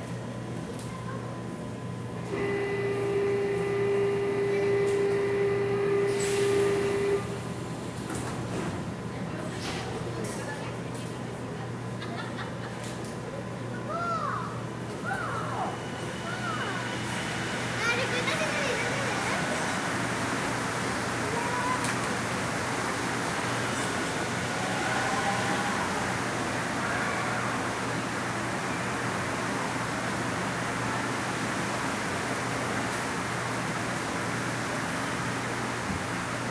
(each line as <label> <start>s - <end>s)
metro 0.0s - 36.5s
people 9.1s - 19.9s